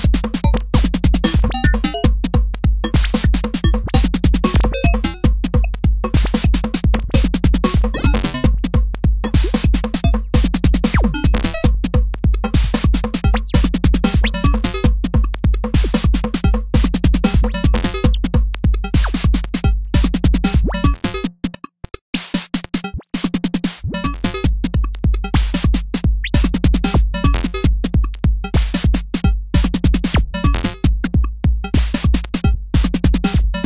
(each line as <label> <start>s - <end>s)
drums 0.0s - 33.6s